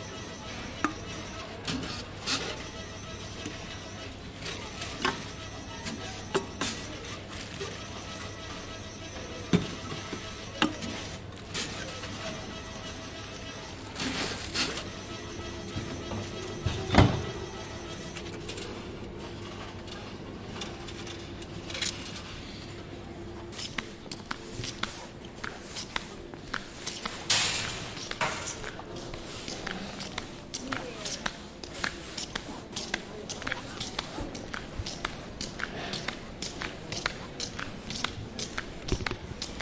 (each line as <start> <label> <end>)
0.1 Bottle recycling machine 22.9